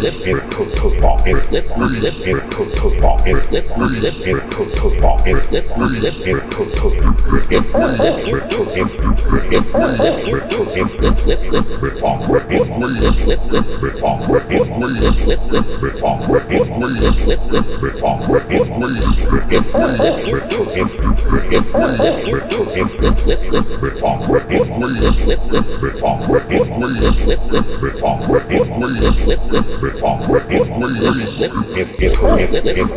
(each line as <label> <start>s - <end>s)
beat 6.8s - 13.8s
beat 19.0s - 24.3s
beat 32.0s - 32.9s